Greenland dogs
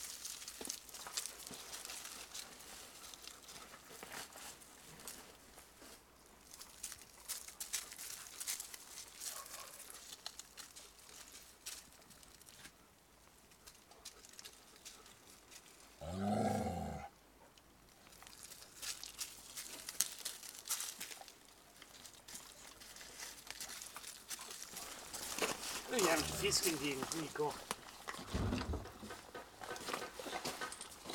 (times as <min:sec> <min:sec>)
0:01.0 0:05.3, 0:06.7 0:11.8, 0:20.7 0:28.3